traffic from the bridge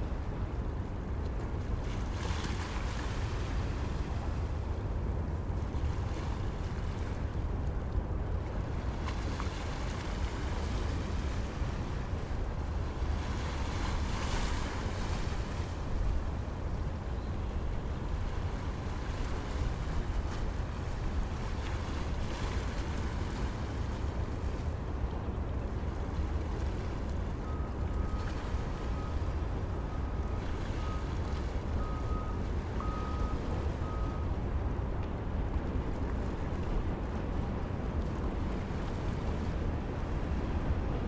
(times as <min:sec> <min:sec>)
0:22.9 0:41.0